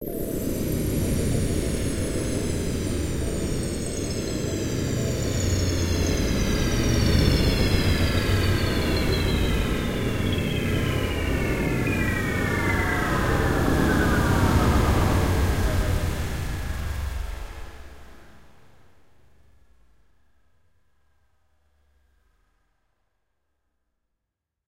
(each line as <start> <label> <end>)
0.4 tinkle feedback descent 18.0